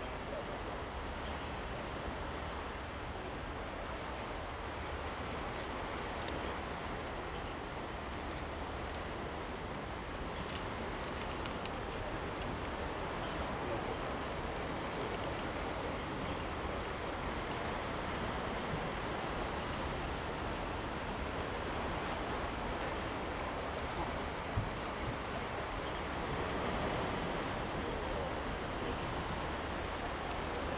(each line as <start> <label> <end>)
0.0 Waves and tides 30.7